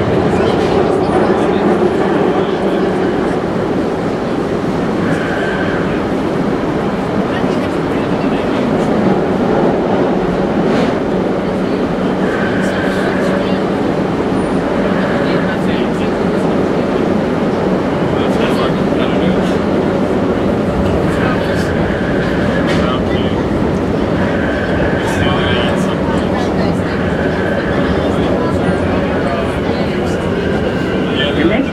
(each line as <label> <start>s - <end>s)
Train arrives and leaves station 0.0s - 31.7s
people 0.0s - 31.7s